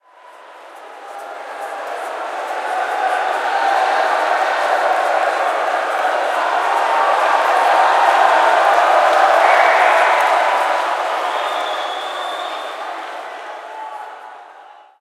0.0s Crowd Cheering 15.0s

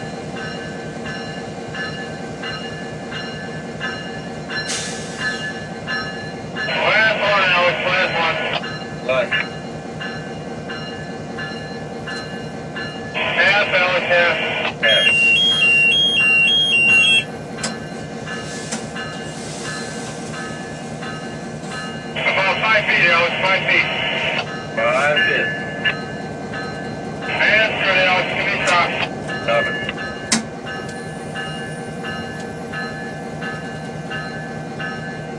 0.0s bell 7.5s
0.0s locomotive moving 35.3s
6.7s radio 8.6s
8.6s bell 13.2s
13.2s radio 15.2s
14.9s bell 22.5s
22.2s radio 25.4s
24.5s bell 35.3s
27.3s radio 29.6s

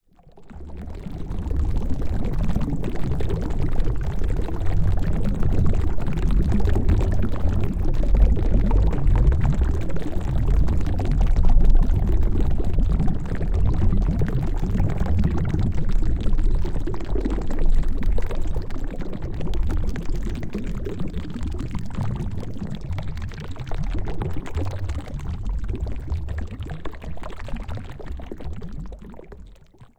0.0s water 29.9s
0.1s Bubbles 29.9s
0.2s Boiling 29.9s

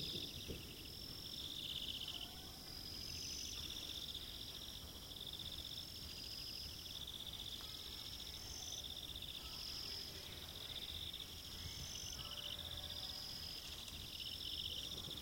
0.0s distant fireworks 5.6s
14.7s distant fireworks 15.2s

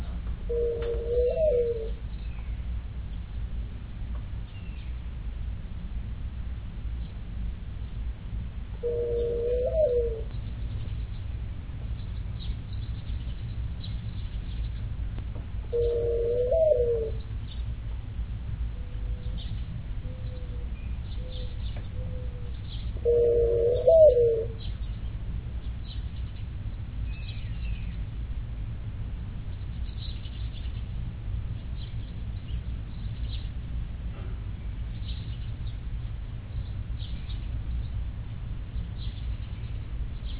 0.0s mourning doves 3.4s
0.0s light birdsong way back 40.3s
8.8s mourning doves 15.0s
15.6s mourning doves 17.9s
18.6s mourning doves 28.1s

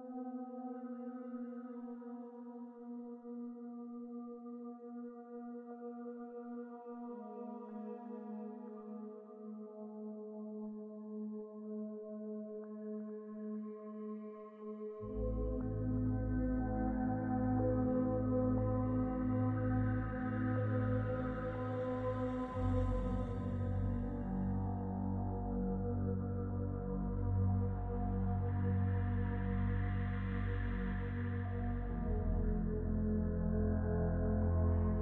0.0s synthesizer 35.0s

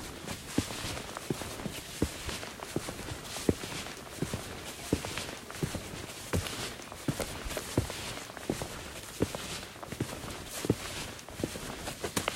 0.0s little walking on grit 12.3s
0.0s walking on beton 12.3s

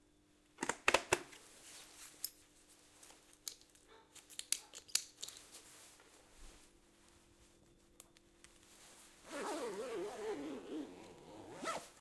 8.8s Dress biker outfit 12.0s
9.2s helmet 12.0s
9.2s zipper 12.0s

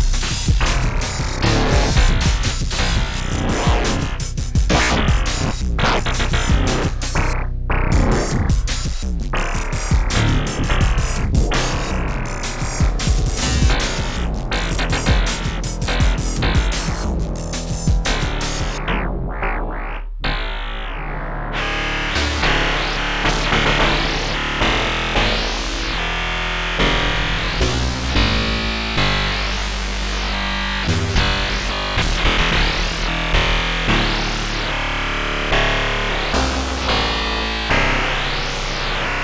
0.7s Static 7.3s

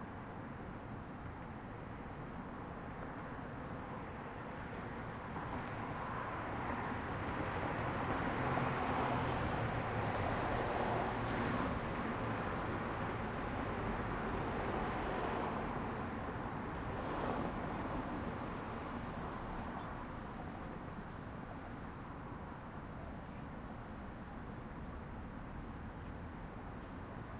0.0s crickets 27.3s
0.0s light traffic 27.3s

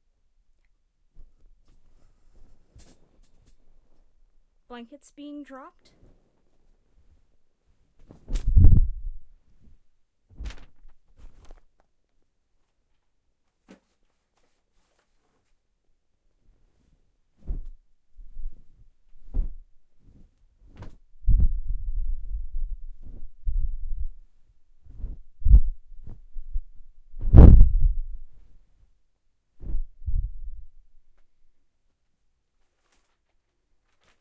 8.0s windy thump of blankets hitting a bed 11.4s
17.4s windy thump of blankets hitting a bed 19.6s
20.2s windy thump of blankets hitting a bed 24.0s
24.9s windy thump of blankets hitting a bed 28.1s
29.6s windy thump of blankets hitting a bed 30.6s

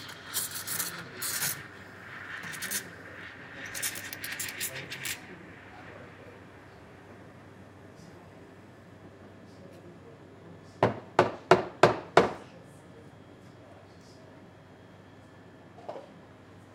0.0s barista making a cappuccino 10.0s

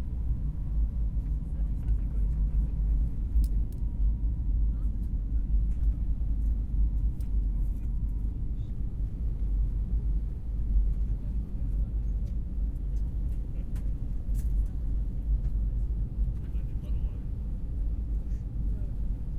16.4s people talking 17.2s

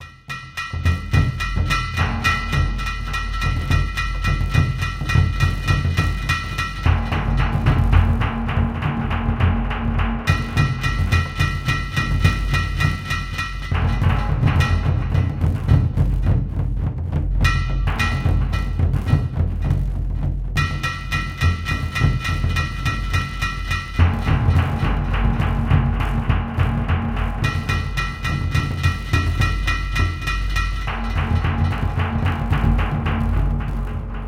0.0s War Drums 34.2s

